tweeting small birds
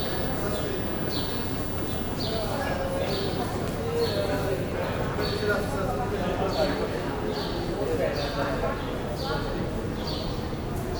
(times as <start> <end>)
0.0 2.5